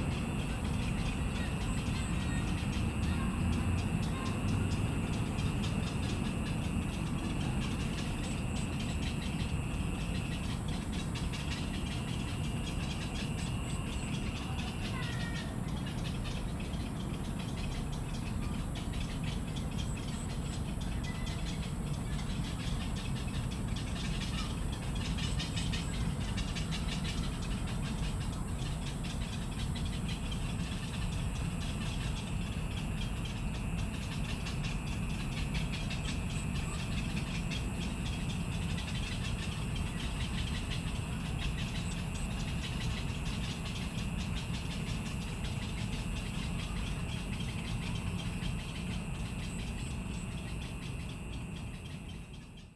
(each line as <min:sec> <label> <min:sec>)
0:00.0 Bird sounds 0:52.7
0:14.3 Voice 0:15.5